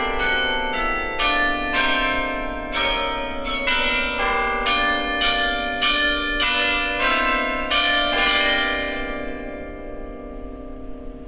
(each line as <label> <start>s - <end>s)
Carillon 0.0s - 11.2s